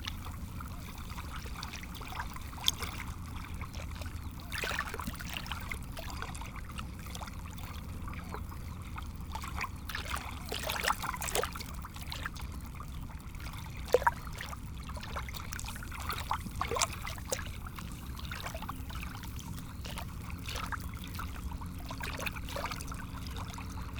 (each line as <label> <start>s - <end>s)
The sea 0.0s - 23.9s